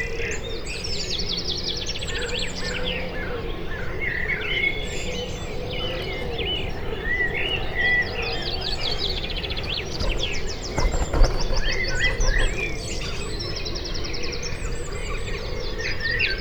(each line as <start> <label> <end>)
4.6 bird calls 14.2